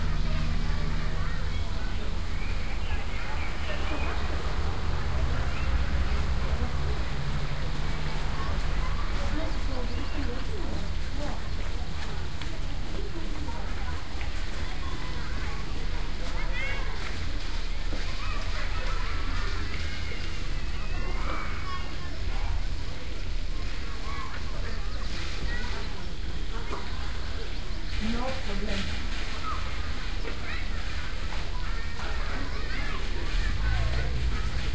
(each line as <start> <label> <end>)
0.0 kids were playing with some water 34.7